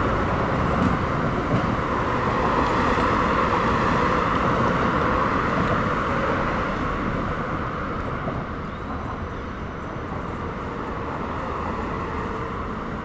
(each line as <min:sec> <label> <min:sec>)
0:00.0 traffic leaving Manhattan 0:13.0